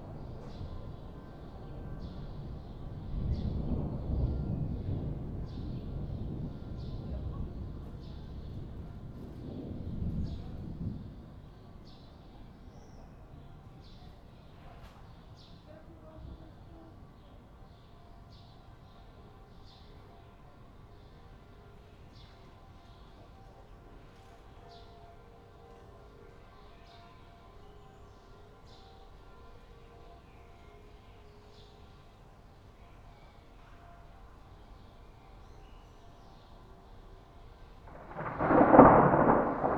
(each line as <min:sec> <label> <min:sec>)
0:00.0 rain 0:11.5
0:02.4 thunder approaches 0:11.3
0:37.8 rain 0:39.7
0:37.9 thunder approaches 0:39.7